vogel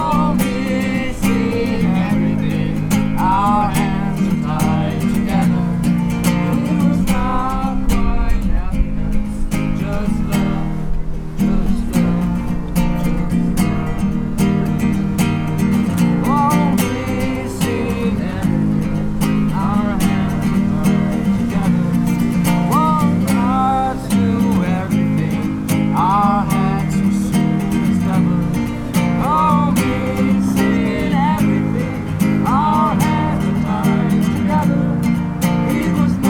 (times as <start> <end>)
9.6 36.2